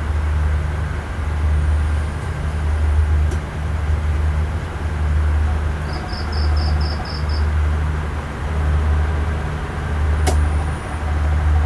distant fishing boat engine 0.0 - 11.6
cicada 5.7 - 7.6

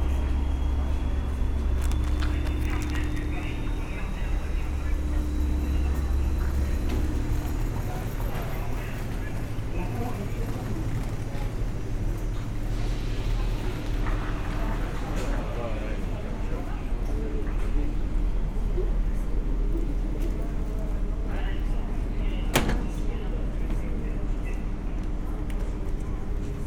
train 0.0 - 26.6

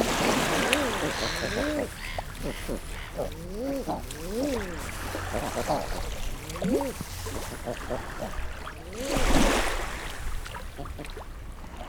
male and female calls 0.0 - 9.2
black-headed gulls 0.0 - 10.0
calls from herring gulls 0.0 - 10.0
house sparrow 0.2 - 8.3
pattering of their webbed feet 0.5 - 8.0

